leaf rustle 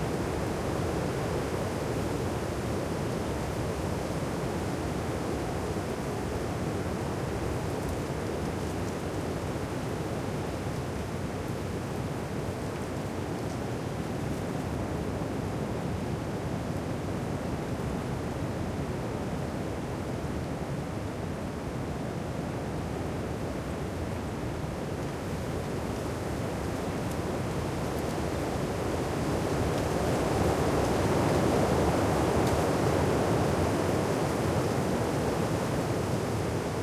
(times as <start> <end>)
22.9 36.8